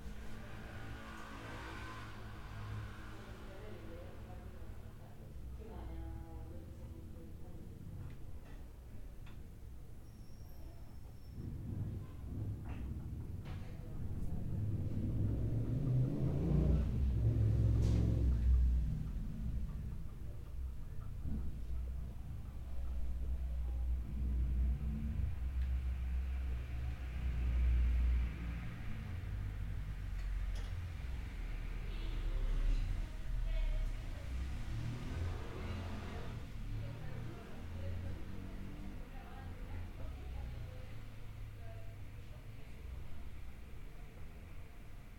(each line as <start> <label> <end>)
0.0 vehículos transitando 45.1